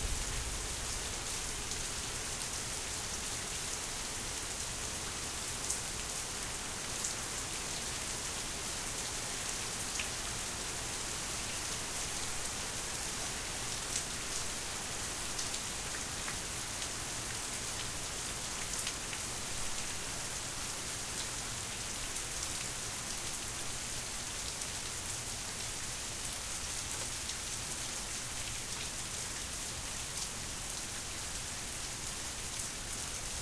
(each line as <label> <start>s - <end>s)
thunder 0.0s - 1.7s
rain 0.0s - 33.4s